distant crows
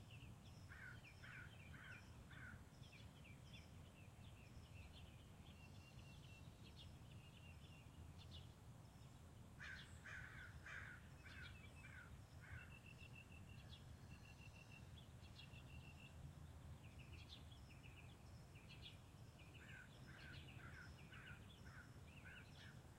0:00.7 0:02.6, 0:09.6 0:12.7, 0:19.6 0:22.8

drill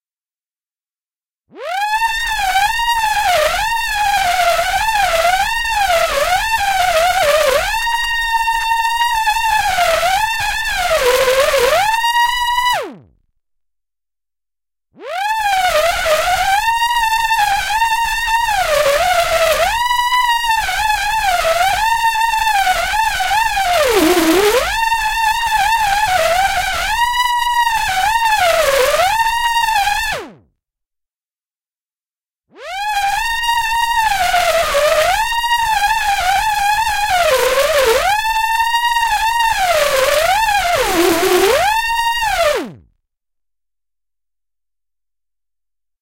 0:01.7 0:12.8, 0:15.1 0:30.3, 0:32.6 0:42.8

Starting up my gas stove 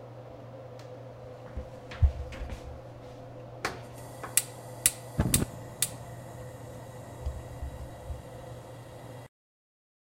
0:03.6 0:09.3

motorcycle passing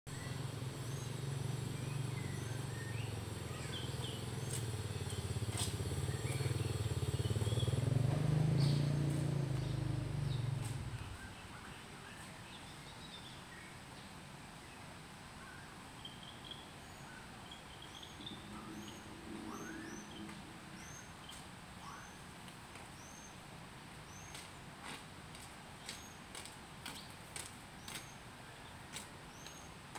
0:00.1 0:11.4, 0:18.2 0:21.1

